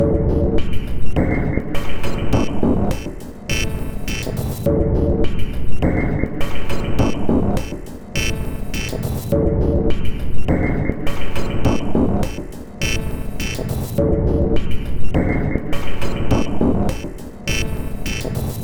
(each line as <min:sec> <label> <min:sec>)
0:00.0 Drum Loop 0:18.6